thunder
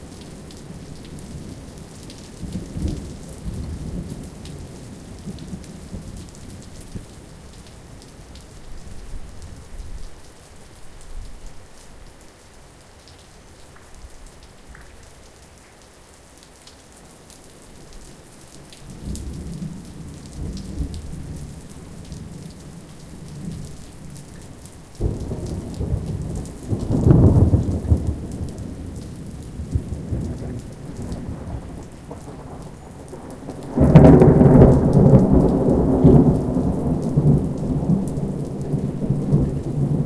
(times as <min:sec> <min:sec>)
0:25.0 0:40.0